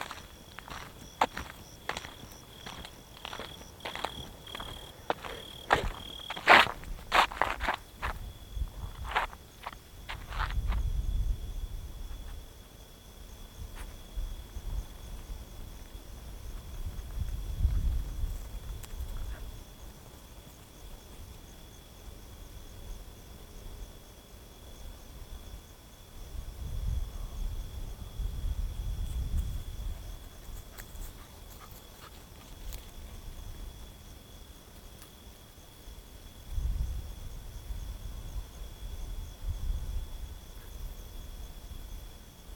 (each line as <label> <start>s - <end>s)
Unpaved gravel road 0.0s - 11.4s
Unpaved gravel road 14.8s - 21.6s
eventual dog 19.0s - 19.6s
Unpaved gravel road 29.2s - 35.2s
eventual dog 30.6s - 32.8s